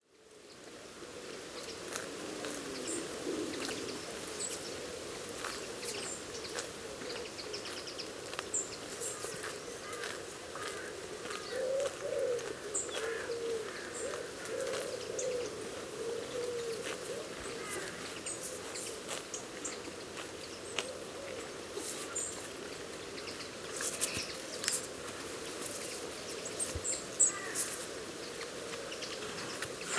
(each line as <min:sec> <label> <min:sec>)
0:00.0 light wind blowing through adjacent trees and bushes 0:29.9
0:01.7 Horse grazing on grass 0:29.9